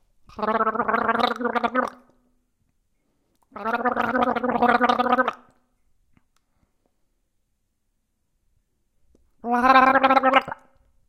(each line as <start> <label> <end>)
0.3 Gargling with water 2.0
3.6 Gargling with water 5.5
9.4 Gargling with water 10.7